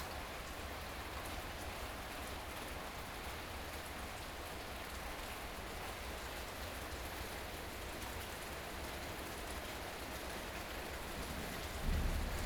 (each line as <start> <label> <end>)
11.2 Thunderstorm 12.4